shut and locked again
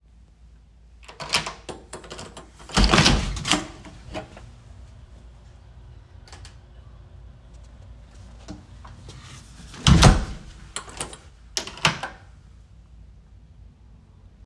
0:01.0 0:04.5, 0:09.7 0:12.3

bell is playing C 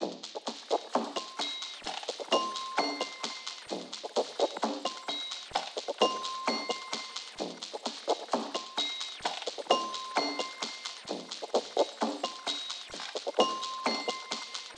0:01.2 0:03.7, 0:06.0 0:07.4, 0:09.7 0:11.1, 0:13.4 0:14.7

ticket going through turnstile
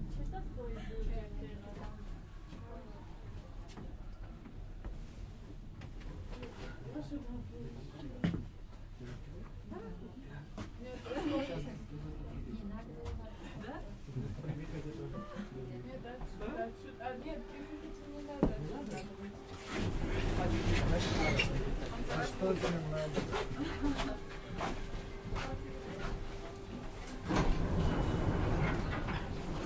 0:27.0 0:29.6

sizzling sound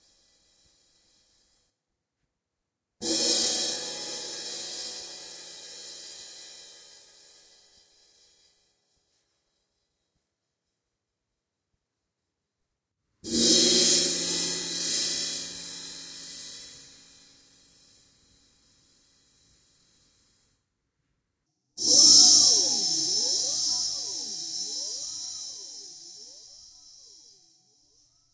0:21.8 0:27.4

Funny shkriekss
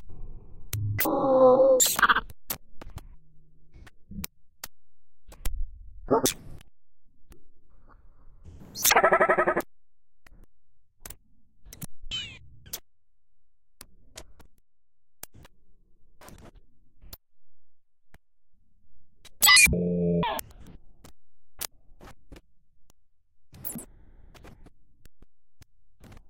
0:19.4 0:20.4

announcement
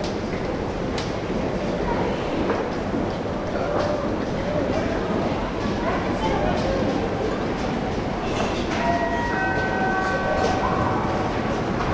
0:08.8 0:11.9

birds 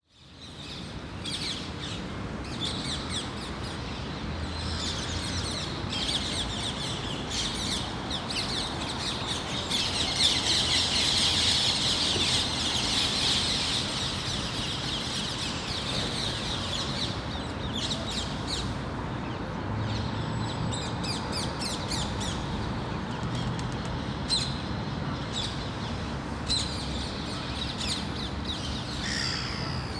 0:29.0 0:29.9

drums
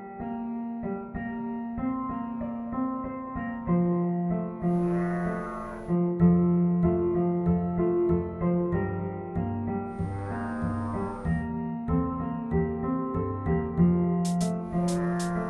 0:14.2 0:15.4

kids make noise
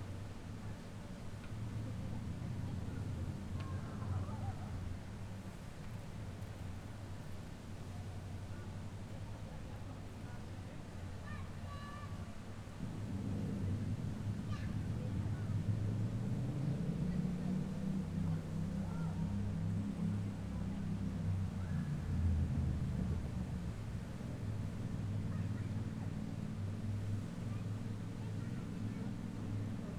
0:03.5 0:05.0, 0:10.3 0:12.7, 0:18.2 0:19.5, 0:25.0 0:26.4, 0:27.4 0:29.9

